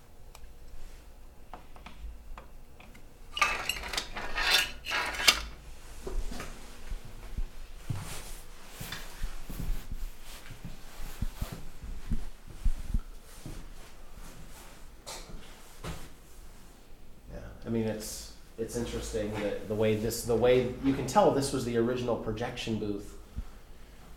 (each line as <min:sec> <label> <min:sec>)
0:02.8 metal cabinets for film reels 0:05.6
0:02.8 old projector parts piled on floor 0:05.6
0:17.3 Voice 0:23.2